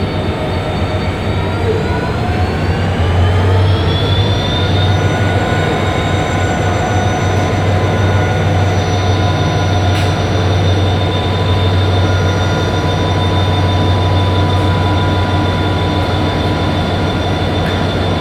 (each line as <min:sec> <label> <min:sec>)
0:00.0 third train arrives slowly driving backwards 0:18.2
0:00.0 two trains 0:18.2
0:09.9 train service engineer positions some metal poles 0:10.3